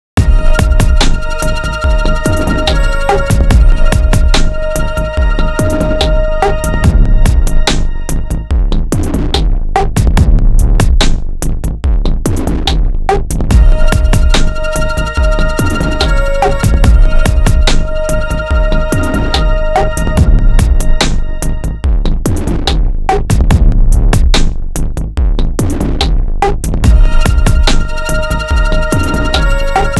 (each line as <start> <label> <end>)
0.0 bass 29.9
0.0 percussion 29.9
0.2 melody 8.6
13.5 melody 22.1
26.9 melody 29.9